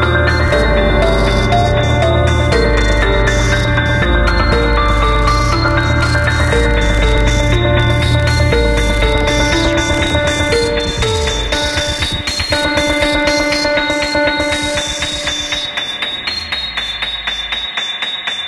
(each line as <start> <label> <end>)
0.0 Beat 18.4
0.0 ROUGH PIANO 18.4